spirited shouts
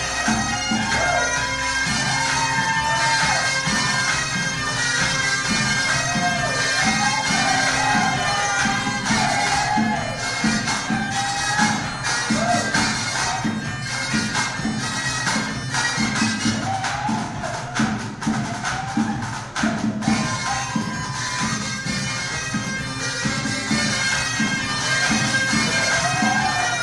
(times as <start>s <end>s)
0.0s 13.6s, 16.4s 21.5s, 24.6s 26.8s